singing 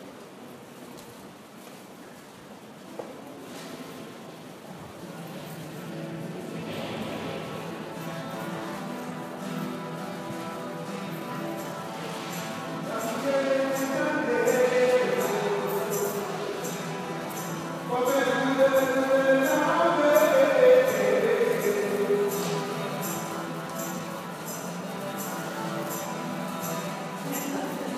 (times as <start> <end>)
12.6 27.9